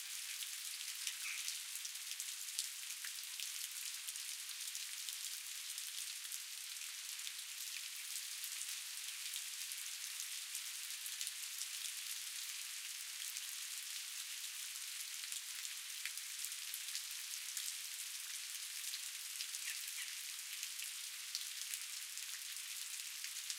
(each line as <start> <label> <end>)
0.0 Light outdoor rain 23.5